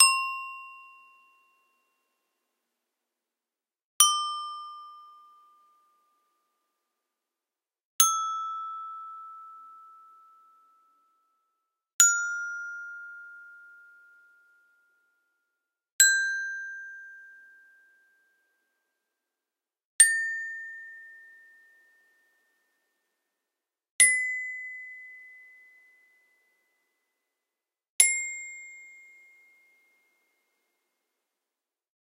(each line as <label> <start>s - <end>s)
toy Glockenspiel 0.0s - 2.3s
toy Glockenspiel 4.0s - 6.3s
toy Glockenspiel 8.0s - 11.3s
toy Glockenspiel 12.0s - 18.6s
toy Glockenspiel 20.0s - 22.7s
toy Glockenspiel 24.0s - 27.0s
toy Glockenspiel 28.0s - 30.8s